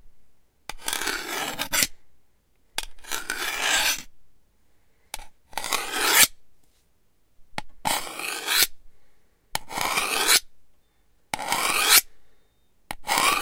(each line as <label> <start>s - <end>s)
Sharpening a knife 0.7s - 1.9s
Sharpening a knife 3.0s - 4.1s
Sharpening a knife 5.6s - 6.4s
Sharpening a knife 7.9s - 8.7s
Sharpening a knife 9.7s - 10.5s
Sharpening a knife 11.4s - 12.1s
Sharpening a knife 13.0s - 13.4s